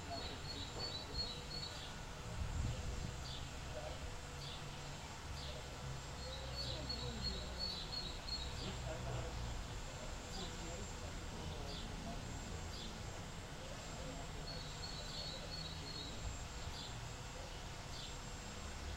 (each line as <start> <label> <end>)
0.0 birds are singing 18.9